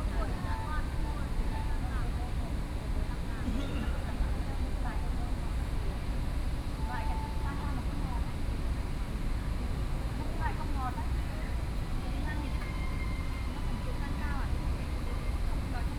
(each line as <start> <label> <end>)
0.0 Group chat between foreign caregivers 15.9